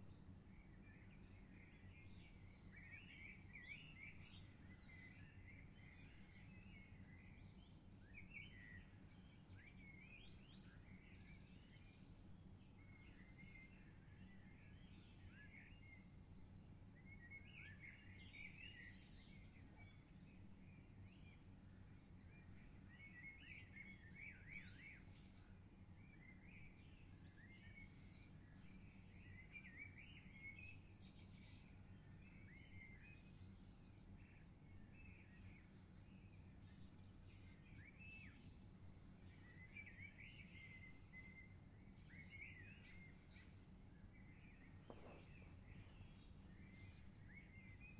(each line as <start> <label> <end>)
0.0 singing Birds 47.9